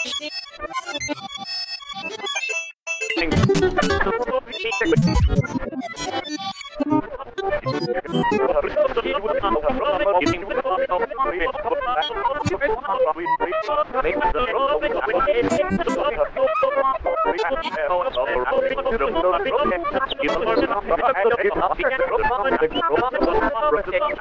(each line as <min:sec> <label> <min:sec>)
0:03.2 radio tuning 0:24.2